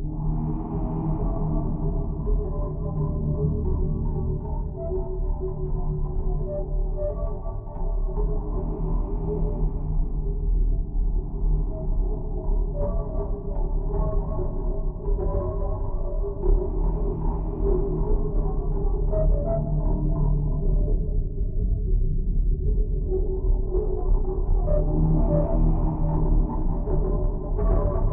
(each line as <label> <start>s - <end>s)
Rumble 7.8s - 28.1s